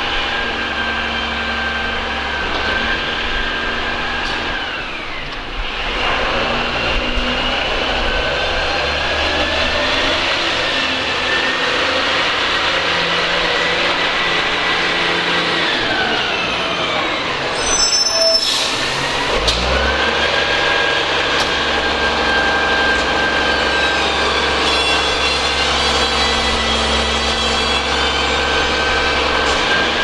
trucks collecting rubbish 0:00.0 - 0:30.0

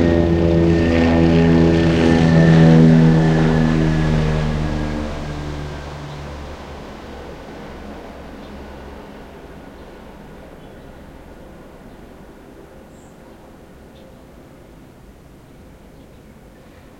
helicopter passes above my house 0:00.0 - 0:16.9

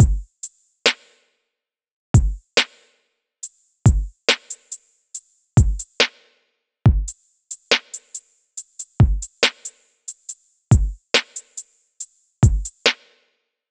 trap drums with reverb and too much punch 0:00.0 - 0:00.3
trap drums with reverb and too much punch 0:02.2 - 0:02.4
trap drums with reverb and too much punch 0:03.9 - 0:04.7
trap drums with reverb and too much punch 0:05.6 - 0:06.1
trap drums with reverb and too much punch 0:06.9 - 0:08.2
trap drums with reverb and too much punch 0:08.8 - 0:09.7
trap drums with reverb and too much punch 0:10.7 - 0:11.6
trap drums with reverb and too much punch 0:12.4 - 0:13.0

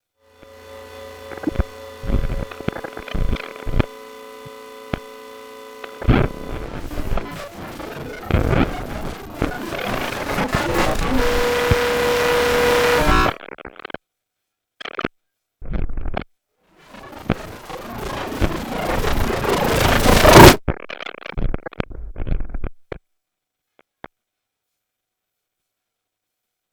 jolt from randomized FM wavelets 0:00.3 - 0:13.4
jolt from randomized FM wavelets 0:16.8 - 0:20.6

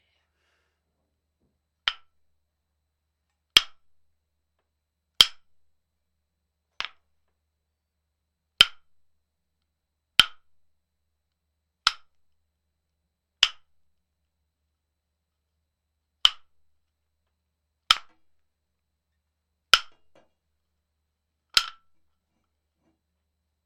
nunchucks wood hit 0:01.8 - 0:02.1
nunchucks wood hit 0:08.6 - 0:09.0
nunchucks wood hit 0:10.2 - 0:10.5
nunchucks wood hit 0:16.2 - 0:16.6
nunchucks wood hit 0:17.9 - 0:18.3
nunchucks wood hit 0:19.7 - 0:20.3
nunchucks wood hit 0:21.5 - 0:22.0

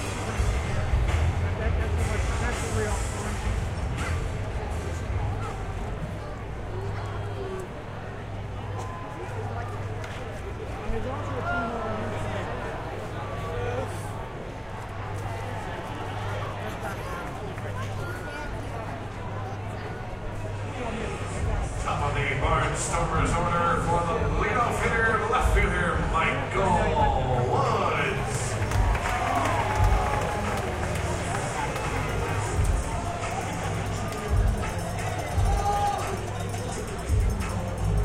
chatter in the crowd 0:00.0 - 0:38.0

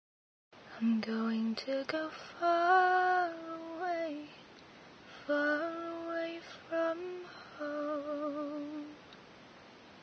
female voice singing 0:00.7 - 0:04.4
female voice singing 0:05.2 - 0:09.0

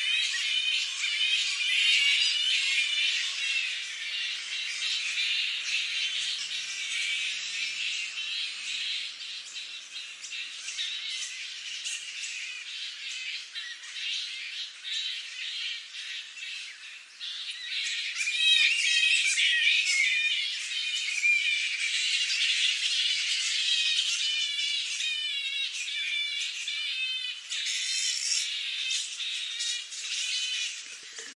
tree full of bats 0:00.0 - 0:31.3

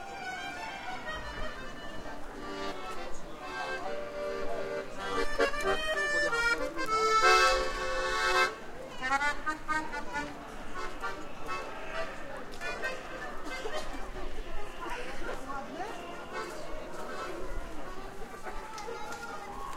accordion 0:00.0 - 0:15.4
a walk 0:09.1 - 0:19.7
accordion 0:16.1 - 0:18.3

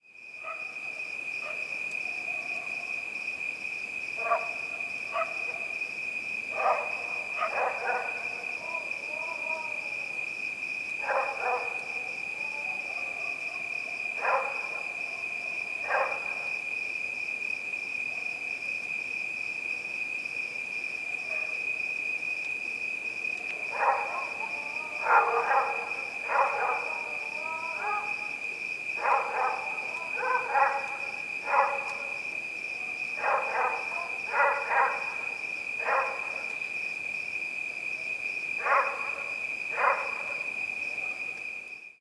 cicadas 0:00.0 - 0:42.0
dogs 0:00.4 - 0:00.8
dogs 0:01.4 - 0:03.2
dogs 0:04.2 - 0:05.8
dogs 0:06.5 - 0:09.6
dogs 0:11.0 - 0:16.6
dogs 0:21.2 - 0:21.7
dogs 0:23.4 - 0:28.4
dogs 0:29.0 - 0:32.2
dogs 0:32.8 - 0:36.6
dogs 0:38.6 - 0:41.4

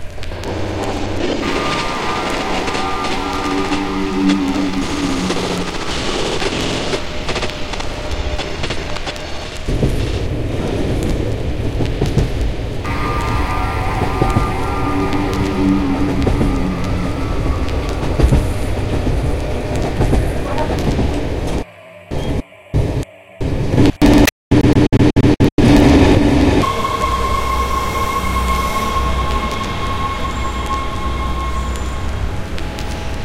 very active drone 0:00.0 - 0:11.2
very active drone 0:12.6 - 0:24.2
very active drone 0:25.6 - 0:33.2

